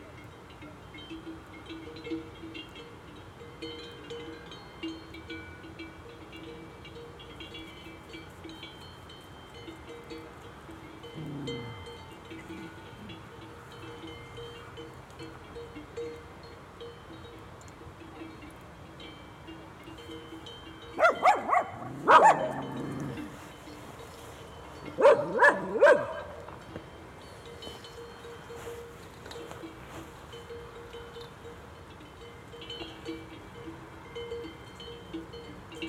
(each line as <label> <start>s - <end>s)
herd of cows with bells 0.0s - 35.8s
noise of the road 0.0s - 35.8s
fodder dogs 11.2s - 11.8s
fodder dogs 21.0s - 23.4s
fodder dogs 24.9s - 26.4s